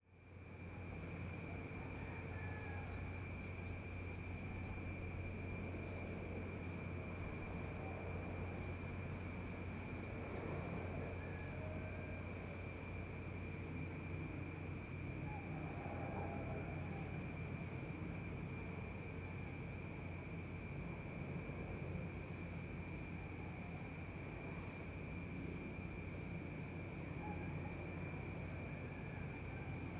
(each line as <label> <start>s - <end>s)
crickets 0.0s - 29.9s
very distant roosters 15.2s - 17.6s